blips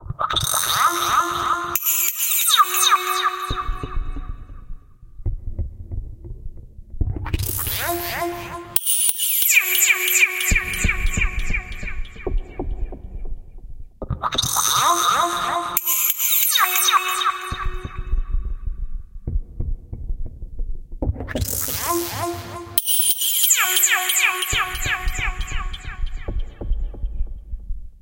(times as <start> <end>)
21.4 26.5